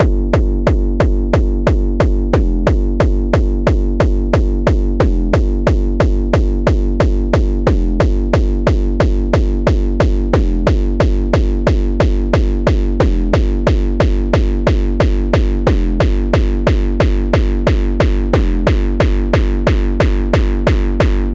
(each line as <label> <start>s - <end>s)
distiorted kick1 0.0s - 21.3s